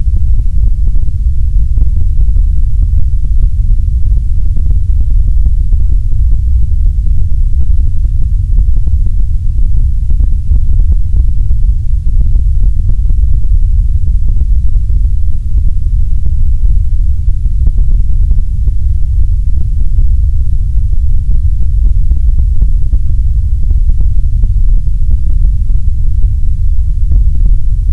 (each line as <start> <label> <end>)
0.0 Heavily altered white noise 27.9